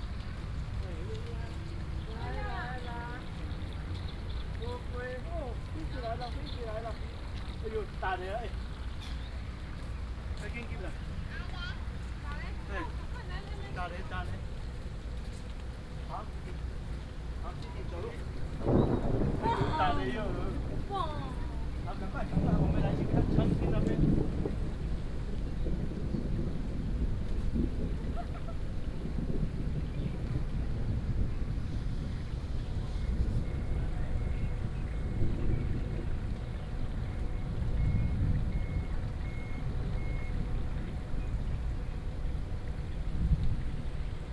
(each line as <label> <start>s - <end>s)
Traffic sound 0.0s - 28.0s
Tourists 0.0s - 44.3s
Thunder 17.7s - 44.3s
Traffic sound 28.7s - 44.3s